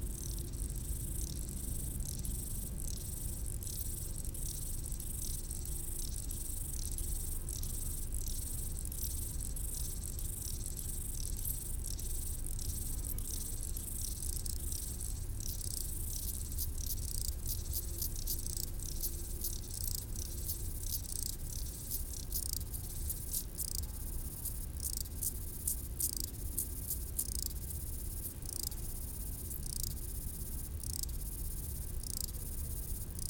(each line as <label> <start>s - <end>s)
stridulations des criquets sur le talus 0.0s - 33.2s